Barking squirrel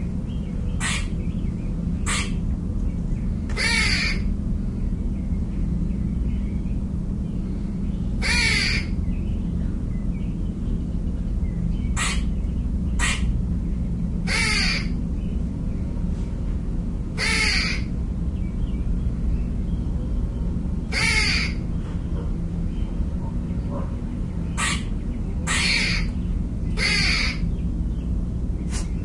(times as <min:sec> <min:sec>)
0:00.7 0:01.2, 0:02.0 0:02.5, 0:03.5 0:04.3, 0:08.2 0:09.0, 0:11.9 0:13.4, 0:14.2 0:15.0, 0:17.2 0:17.9, 0:20.8 0:21.7, 0:23.2 0:27.5